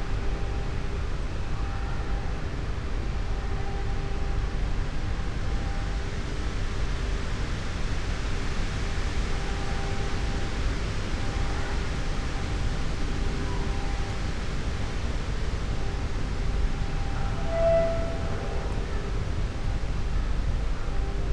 wind 0:00.0 - 0:21.3

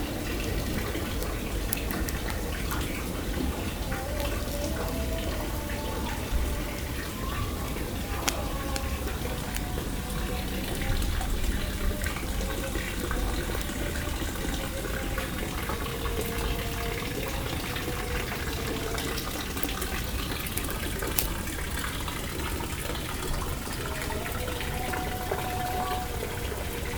charcoal fire 0:00.0 - 0:26.0
distant evening call for prayer 0:00.0 - 0:26.9
fountain 0:00.0 - 0:26.9

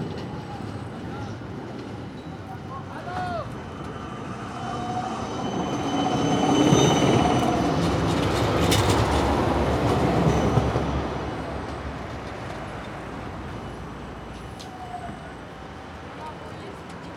traffic 0:00.0 - 0:17.1
trams passing in front of the mics 0:00.0 - 0:17.1

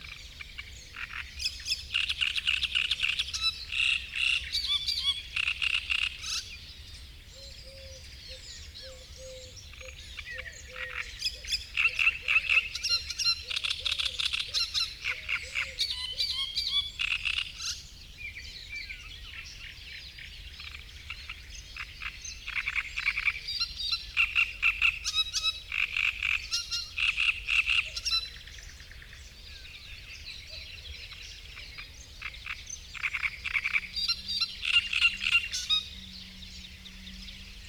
frog chorus 0:00.0 - 0:06.5
great reed warbler singing 0:00.0 - 0:37.6
frog chorus 0:07.4 - 0:17.9
frog chorus 0:18.8 - 0:37.6

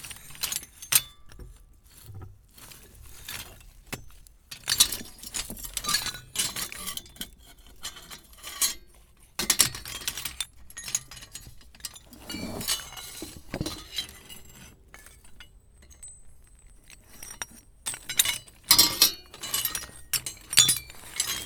rummaging with scraps of metal, old pipes, chains 0:00.0 - 0:21.4

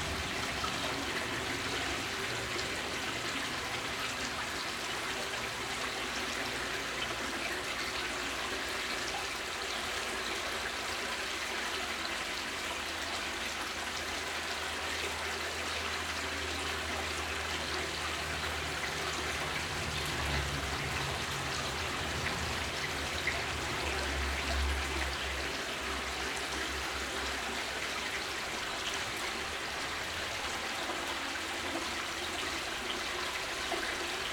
stream in tube under stret 0:00.0 - 0:34.3

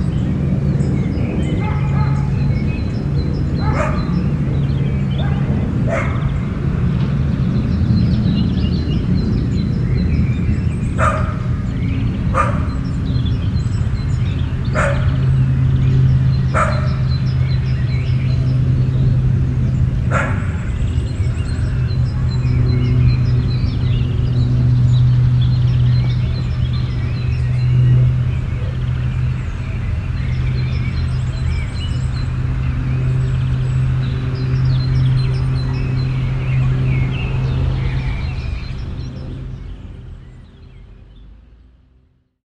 cars 0:00.0 - 0:42.0
birds singing in background 0:00.0 - 0:42.4
plane 0:00.0 - 0:42.4
dogs are barking 0:01.4 - 0:02.5
dogs are barking 0:03.5 - 0:04.5
dogs are barking 0:05.1 - 0:06.4
dogs are barking 0:10.9 - 0:13.1
dogs are barking 0:14.7 - 0:15.7
dogs are barking 0:16.4 - 0:17.4
dogs are barking 0:20.0 - 0:20.8

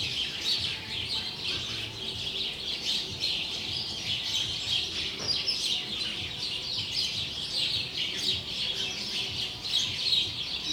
bunch of clamorous sparrows 0:00.0 - 0:10.7

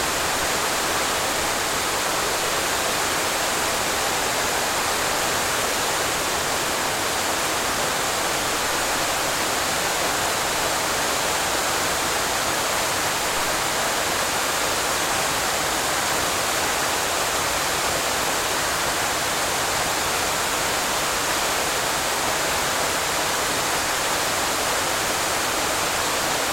waterfall 0:00.0 - 0:26.5

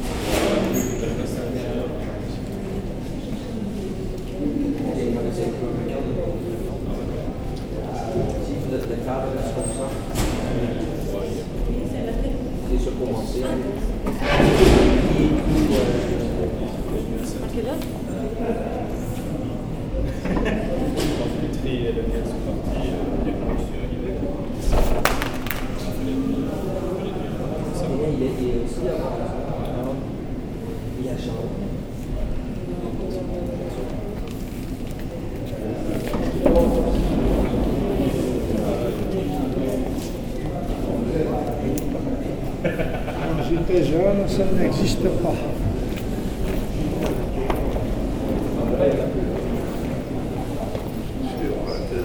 Quiet discussions in the train 0:00.0 - 0:24.8
Security guards discussing very quietly 0:00.0 - 0:52.0
Quiet discussions in the train 0:25.8 - 0:52.0

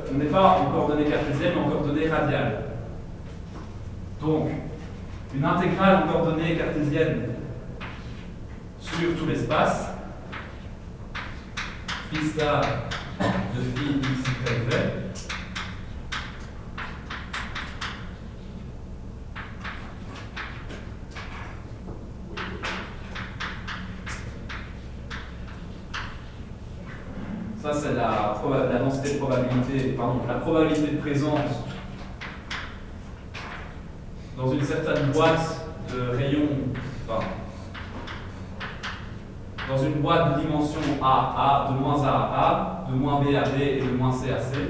course of physical science 0:20.4 - 0:44.6

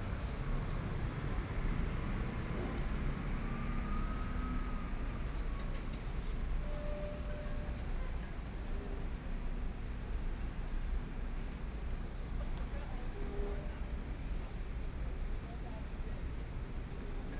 river yacht 0:04.8 - 0:17.3

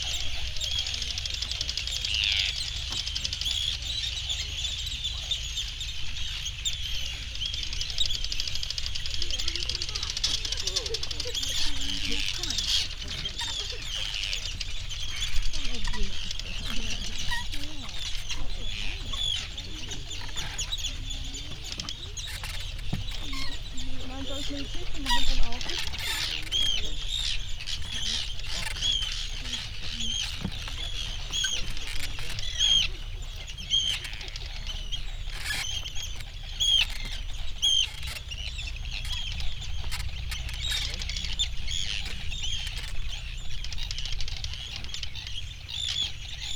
arctic tern colony 0:00.0 - 0:46.5
background noise from people 0:00.0 - 0:46.5
boats 0:00.0 - 0:46.5
planes 0:00.0 - 0:46.5
creaking boards 0:09.4 - 0:45.2

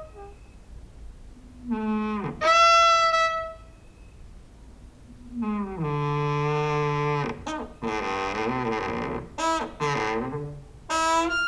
creaking with wooden doors 0:01.6 - 0:03.7
creaking with wooden doors 0:05.2 - 0:11.4

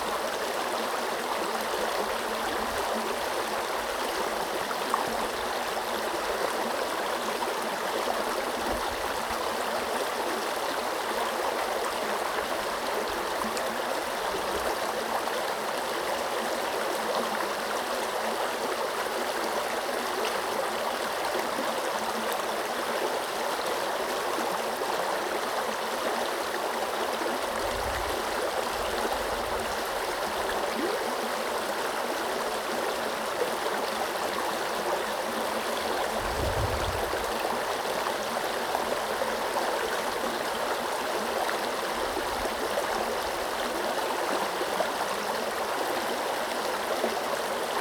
River 0:00.0 - 0:47.8

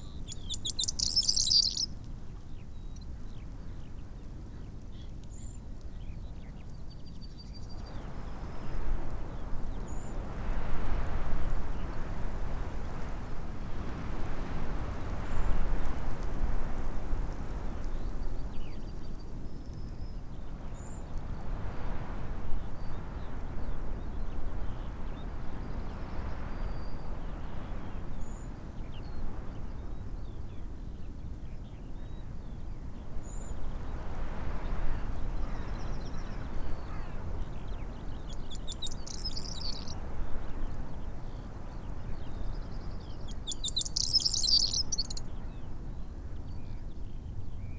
blackbird 0:00.0 - 0:01.9
pheasant 0:00.0 - 0:01.9
skylark 0:00.0 - 0:01.9
very windy 0:00.0 - 0:01.9
linnet 0:00.3 - 0:01.8
very windy 0:32.0 - 0:47.7
pheasant 0:34.7 - 0:40.6
skylark 0:34.7 - 0:40.1
blackbird 0:37.8 - 0:40.0
pheasant 0:42.0 - 0:45.7
skylark 0:42.1 - 0:45.4
blackbird 0:42.4 - 0:45.6

